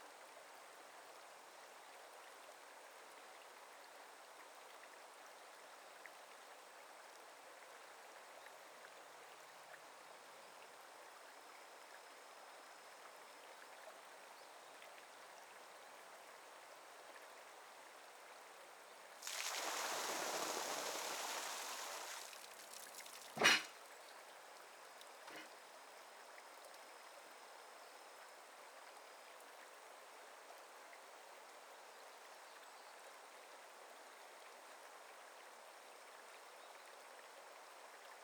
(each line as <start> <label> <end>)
19.2 Water Scoop Earth Mills 23.7